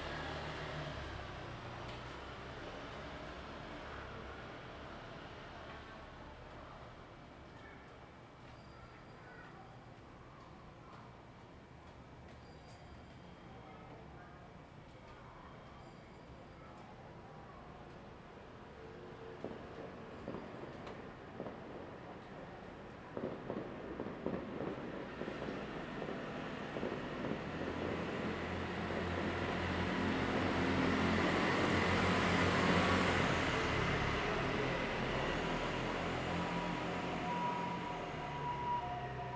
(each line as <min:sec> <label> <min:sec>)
0:17.9 distant sound of fireworks 0:39.3
0:19.0 Traffic Sound 0:39.3